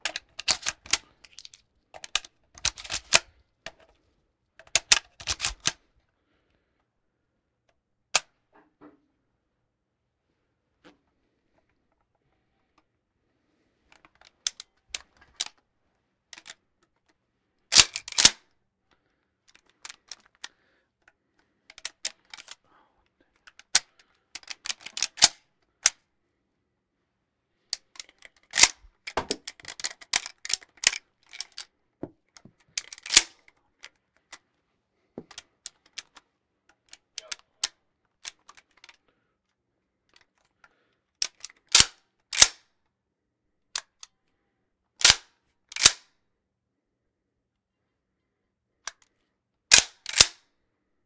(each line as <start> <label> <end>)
0.0 Winchester rifle loading and cocking 3.9
4.6 Winchester rifle loading and cocking 5.8
13.9 Winchester rifle loading and cocking 15.6
16.3 Winchester rifle loading and cocking 17.0
17.7 Winchester rifle loading and cocking 18.5
19.5 Winchester rifle loading and cocking 20.5
21.7 Winchester rifle loading and cocking 22.6
23.3 Winchester rifle loading and cocking 26.0
27.7 Winchester rifle loading and cocking 31.7
32.3 Winchester rifle loading and cocking 34.4
35.2 Winchester rifle loading and cocking 39.0
40.1 Winchester rifle loading and cocking 42.7
43.7 Winchester rifle loading and cocking 44.1
45.0 Winchester rifle loading and cocking 46.1
48.9 Winchester rifle loading and cocking 50.4